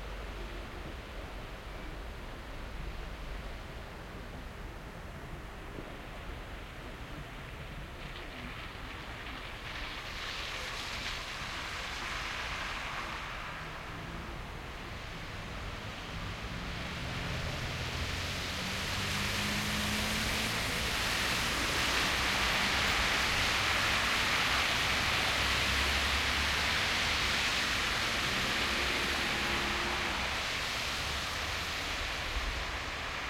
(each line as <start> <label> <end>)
0.0 Traffic passing cars 33.2
0.0 bus 33.2
0.0 truck 33.2